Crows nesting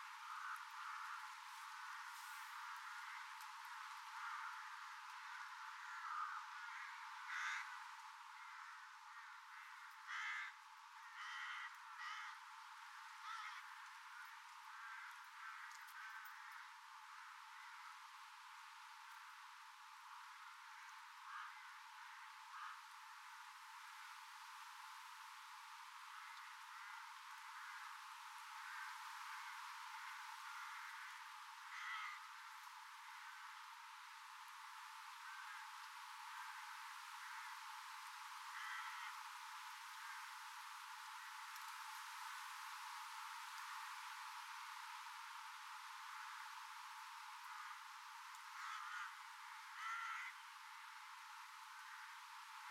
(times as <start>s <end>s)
0.1s 17.9s, 28.6s 33.4s, 38.4s 39.2s, 48.4s 50.4s